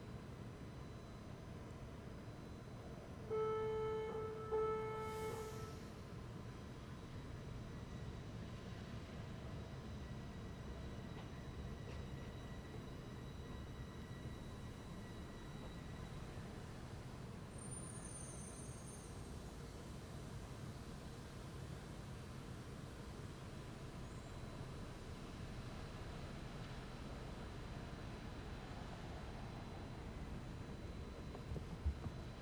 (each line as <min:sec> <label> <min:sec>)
0:01.7 two stranded trains 0:07.5
0:09.0 two stranded trains 0:32.4